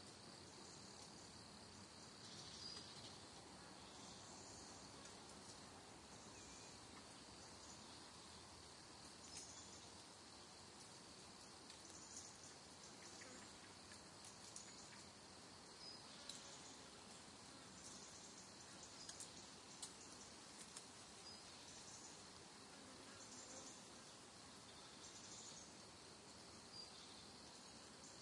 crickets in the background 0:00.0 - 0:28.2
wind 0:00.0 - 0:28.2
bugs flying around 0:06.8 - 0:28.2
leaves crackling as they fall 0:19.0 - 0:21.1

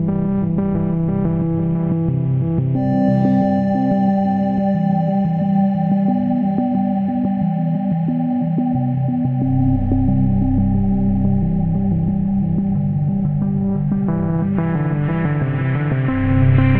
Warm, drifting pads 0:02.1 - 0:16.7

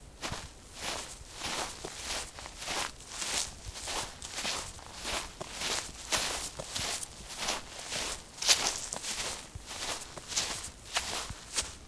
Walking through grass 0:00.0 - 0:11.8

